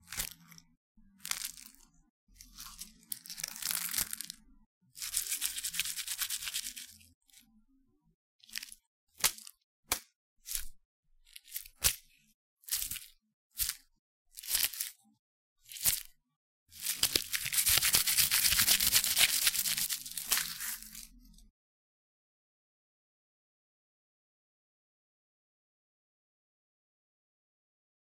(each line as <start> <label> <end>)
5.0 cloves of garlic being tapped, rubbed together, shaken 7.0
16.8 cloves of garlic being tapped, rubbed together, shaken 21.1